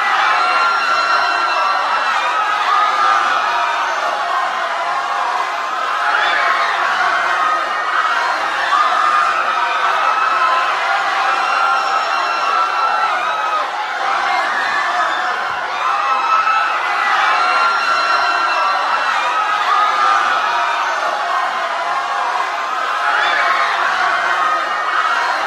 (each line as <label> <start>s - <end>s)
background noise 0.0s - 25.4s
panicking crowd 0.0s - 25.4s